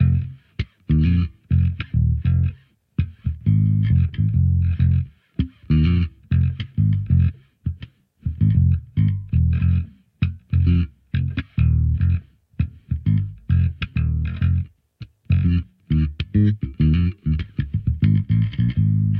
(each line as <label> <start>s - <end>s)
Funk Bass Groove 0.0s - 19.1s